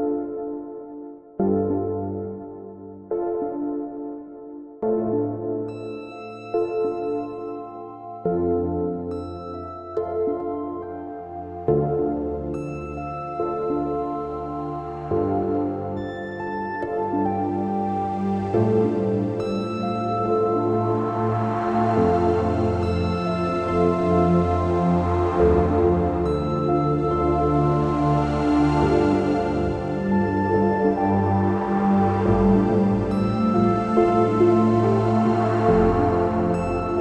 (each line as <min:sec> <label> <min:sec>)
0:00.0 piano 0:37.0
0:04.9 Warm and sad pad 0:37.0
0:12.6 drone 0:37.0